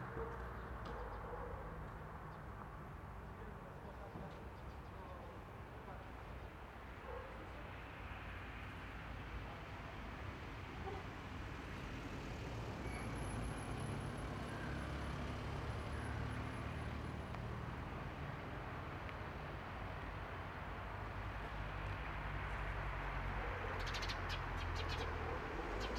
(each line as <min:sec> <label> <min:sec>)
0:06.7 Cars 0:25.9
0:23.5 Birds 0:25.9